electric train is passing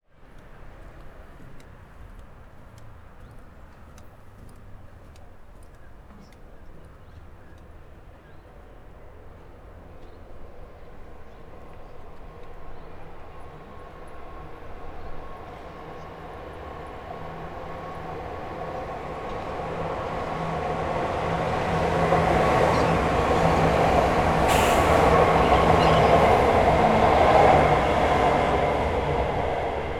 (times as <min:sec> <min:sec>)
0:08.8 0:29.9